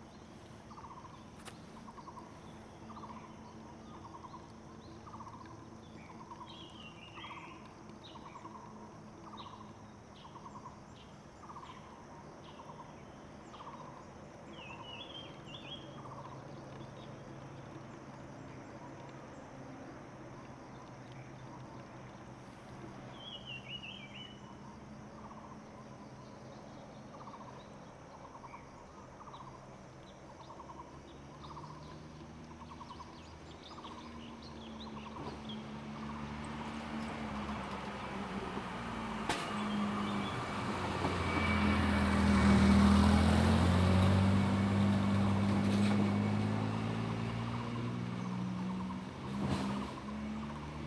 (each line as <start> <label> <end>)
26.8 Traffic Sound 50.8